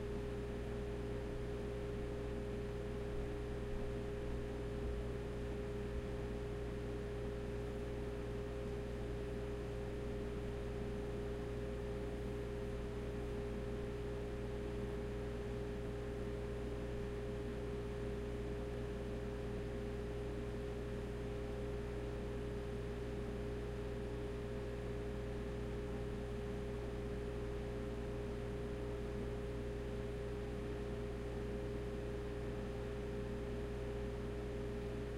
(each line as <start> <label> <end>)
0.0 room tone kitchen fridge 35.1